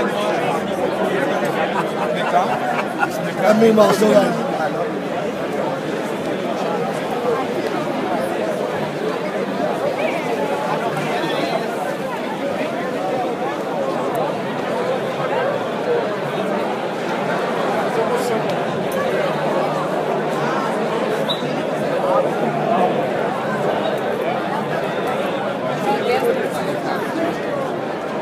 chatter 0.0 - 28.2

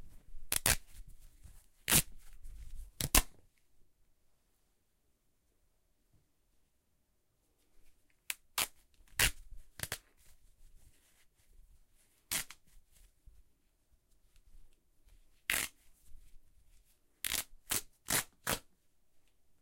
Ripping Fabric 0.5 - 1.0
Ripping Fabric 1.8 - 2.4
Ripping Fabric 8.3 - 10.3
Ripping Fabric 12.2 - 12.8
Ripping Fabric 15.4 - 15.8
Ripping Fabric 17.2 - 18.7

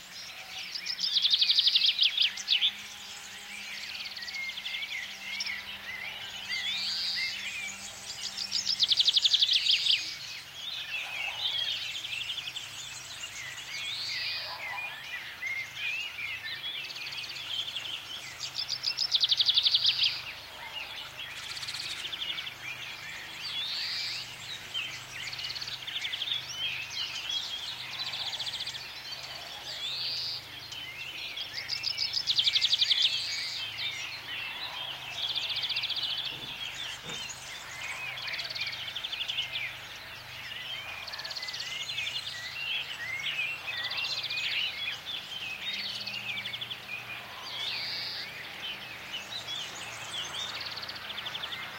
birds singing 0.0 - 51.7
motors (tractors) in background 0.0 - 51.7

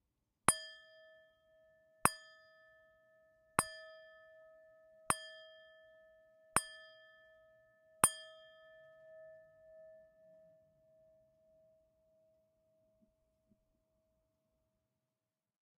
six chimes on a small brass prayer bowl 0.5 - 11.7

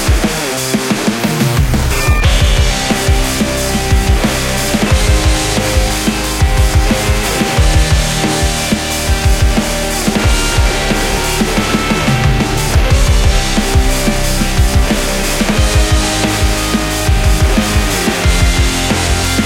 synth 1.4 - 19.4

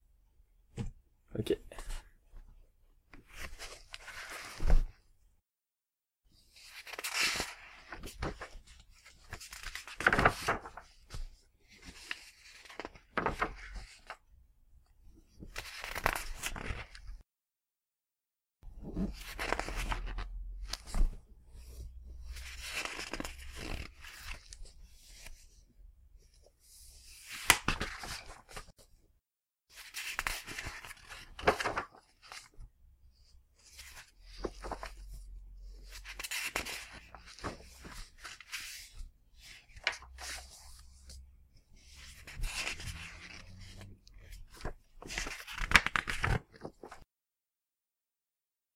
Turning paper pages 6.4 - 14.2
Turning paper pages 15.4 - 17.2
Turning paper pages 18.9 - 25.6
Turning paper pages 26.3 - 28.9
Turning paper pages 29.7 - 32.7
Turning paper pages 33.6 - 41.2
Turning paper pages 41.8 - 47.1

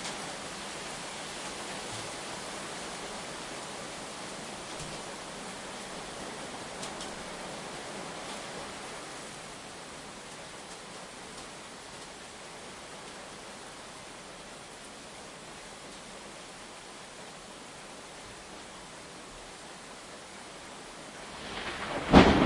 Heavy rain 0.0 - 22.4
thunder 21.3 - 22.4

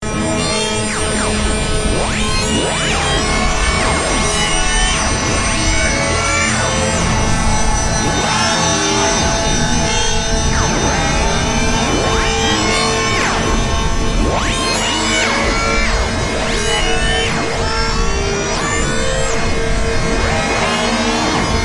Harmonic Frequency Modulation 0.0 - 21.6

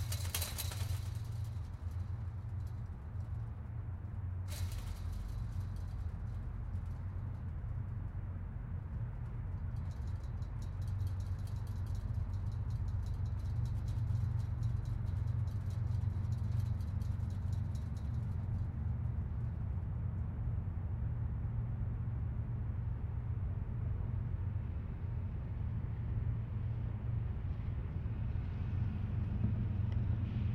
chain link fence 0.0 - 3.7
chain link fence 4.5 - 8.2
chain link fence 9.5 - 18.8

